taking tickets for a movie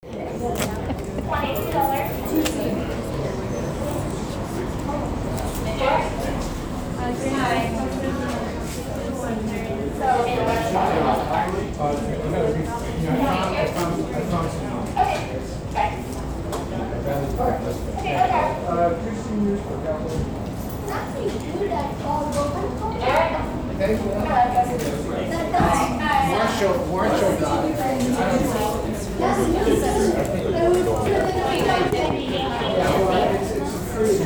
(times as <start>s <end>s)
0.1s 8.6s, 26.2s 34.2s